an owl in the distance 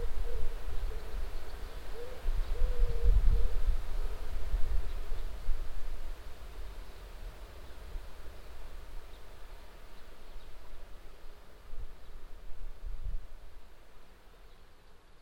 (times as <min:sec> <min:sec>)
0:00.0 0:05.4